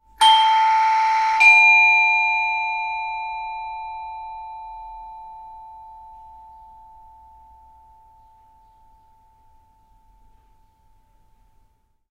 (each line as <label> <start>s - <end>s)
doorbell 0.2s - 10.6s